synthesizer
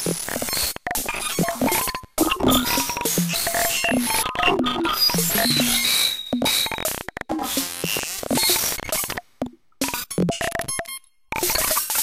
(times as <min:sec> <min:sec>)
0:00.9 0:09.2